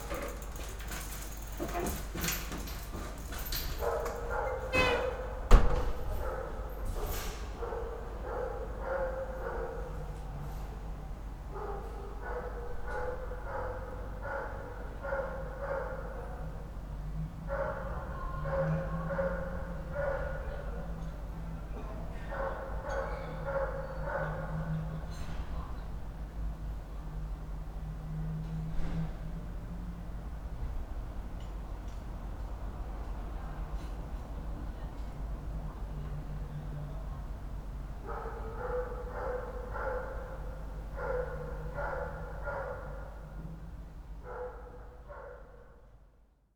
38.0s a dog barks 43.2s

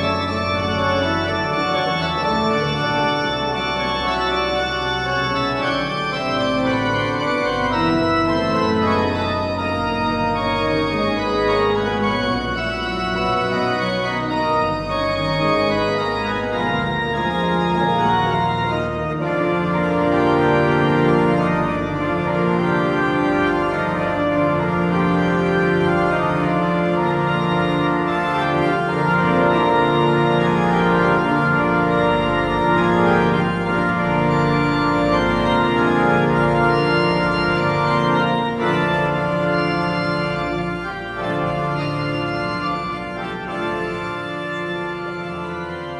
0.0s organ music concert 45.9s

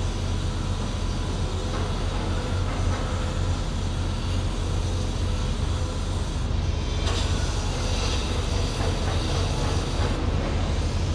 0.0s Construction works 11.1s

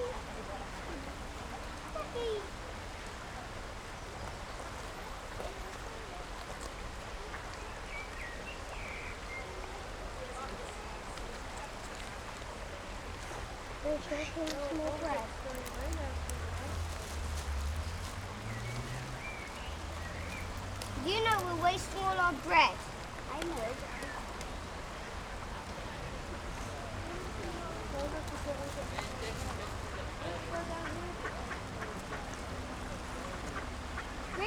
0.0s Kids feeding bread to the ducks 34.4s
28.1s ducks and ducklings 34.4s

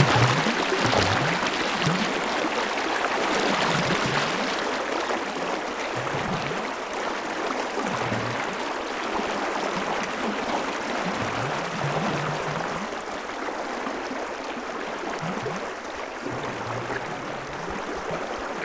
0.0s water 18.6s

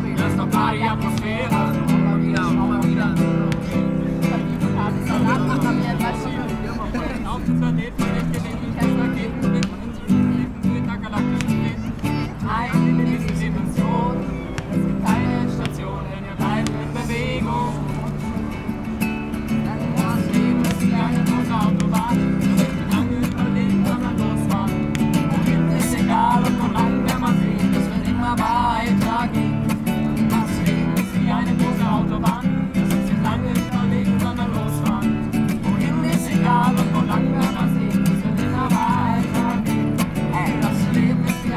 0.0s gespräche 41.5s
0.0s singende menschen 41.5s

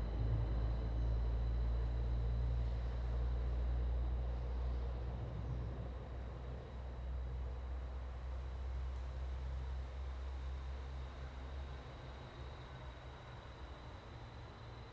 0.0s wind 14.9s

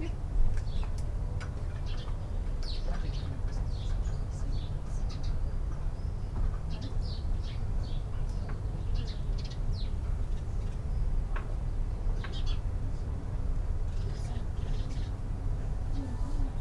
0.0s Sparrows 16.6s
0.0s low background drone of traffic 16.6s

